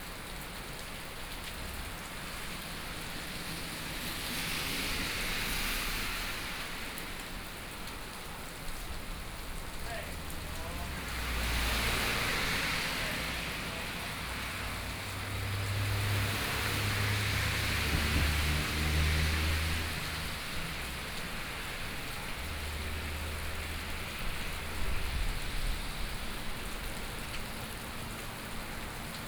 0.0s Traffic Sound 29.2s
15.9s Thunderstorm 19.9s

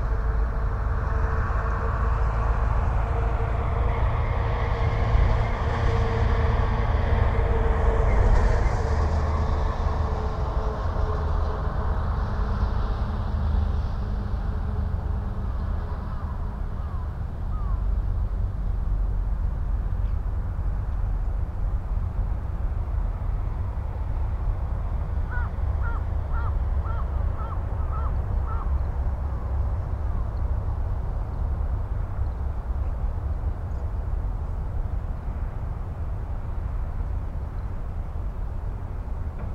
0.0s Traffic rumble 39.5s
25.3s crows 28.7s

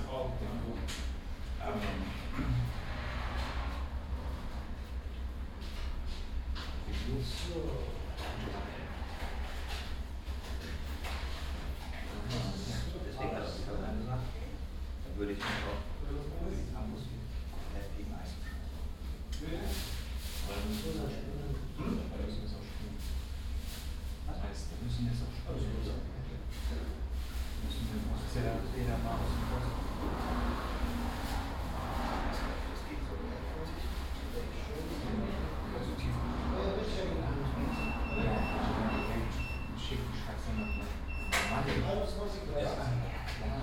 0.0s people talking 2.8s
0.0s traffic from outside 43.6s
6.8s people talking 9.1s
11.9s people talking 18.5s
19.3s people talking 23.0s
24.3s people talking 43.6s

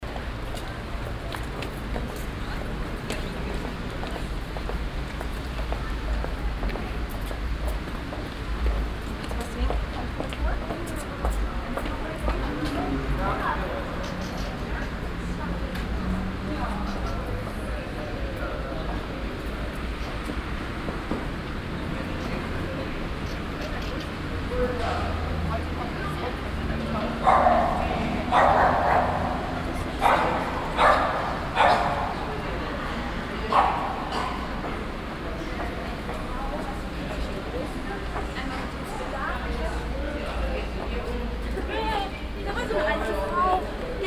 0.1s people 44.0s

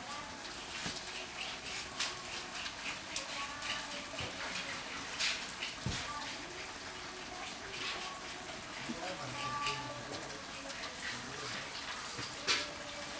5.9s women singing in distance 13.1s

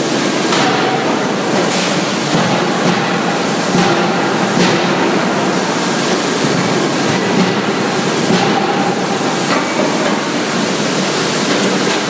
0.0s Heavy Metal Forge Factory 12.0s

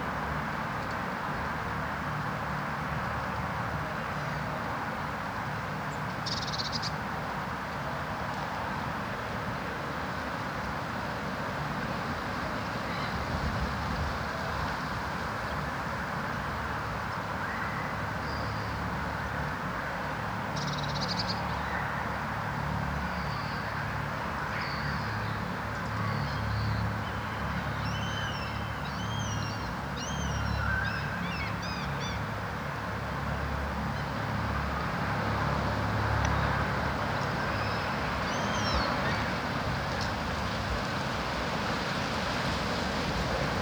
18.7s traffic noise 43.6s

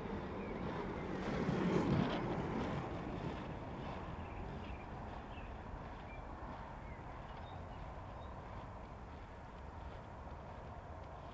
0.0s Roller-skaters 11.3s
3.1s birds 8.9s

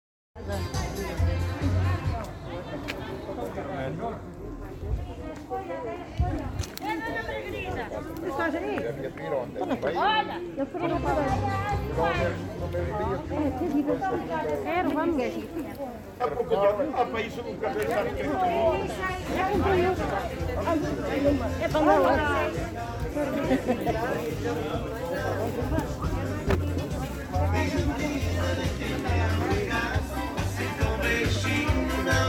19.4s música 32.2s

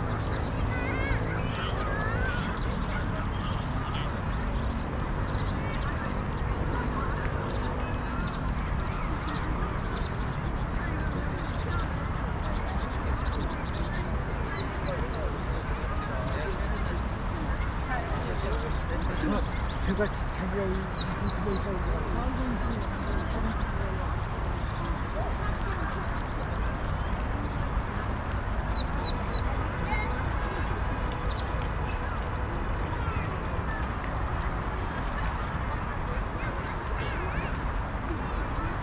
7.6s Birds Chirping 30.0s

